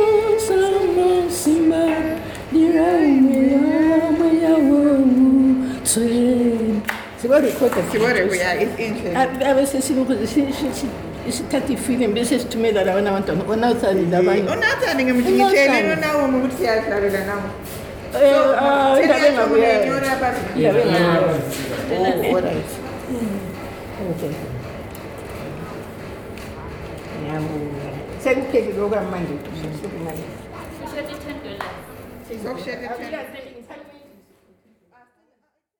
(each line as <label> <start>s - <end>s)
Singing 0.0s - 8.2s